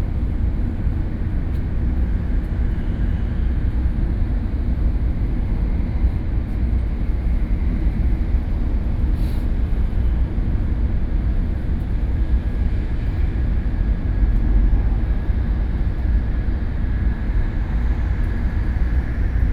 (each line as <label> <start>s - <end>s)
High-speed rail train 0.0s - 19.5s